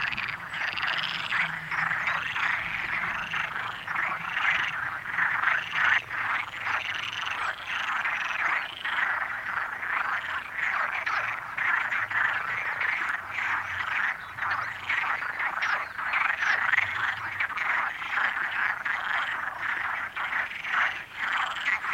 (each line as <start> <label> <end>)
0.0 Frogs chatting in the lake 21.9